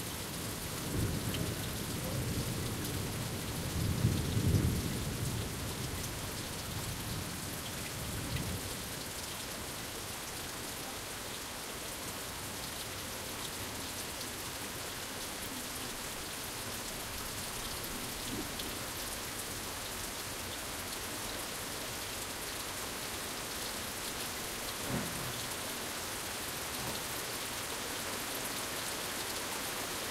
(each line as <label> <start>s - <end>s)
rain 0.0s - 30.1s
thunder 24.8s - 25.3s